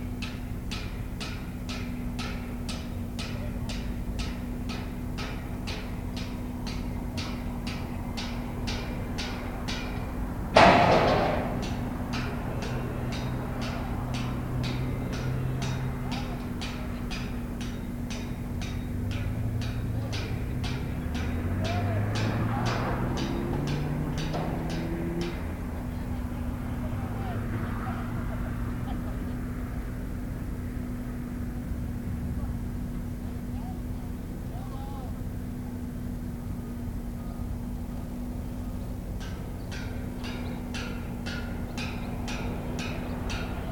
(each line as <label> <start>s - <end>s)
Road traffic 0.0s - 43.7s
new building construction 0.0s - 43.7s